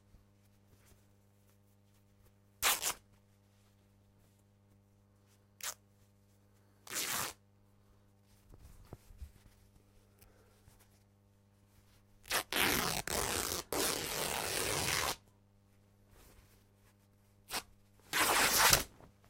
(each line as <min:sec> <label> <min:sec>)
0:02.6 Tearing Corduroy Shirt 0:03.0
0:05.6 Tearing Corduroy Shirt 0:05.8
0:06.8 Tearing Corduroy Shirt 0:07.4
0:12.2 Tearing Corduroy Shirt 0:15.2
0:17.5 Tearing Corduroy Shirt 0:18.9